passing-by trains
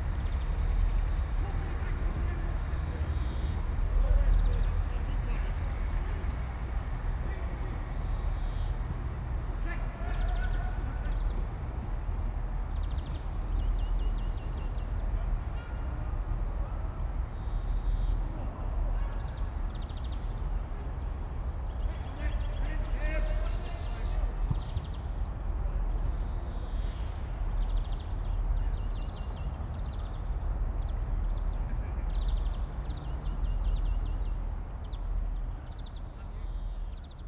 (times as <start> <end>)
0.0 18.7